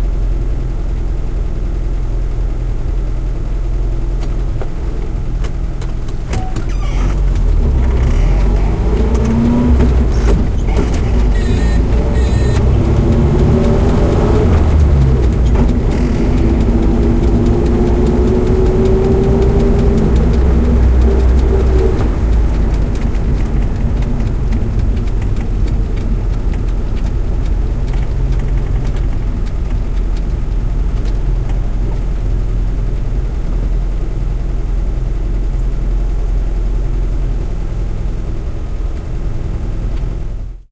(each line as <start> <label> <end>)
0.0 calm traffic 40.7
3.1 Car is going 40.7